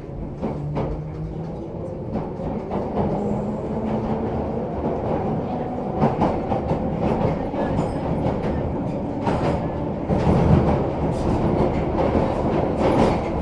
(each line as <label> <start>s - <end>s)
train leaving the baker street tube station 0.0s - 13.4s